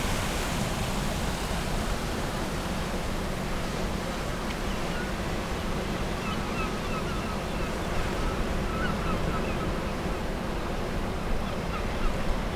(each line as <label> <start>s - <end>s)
outgoing tide 0.0s - 12.5s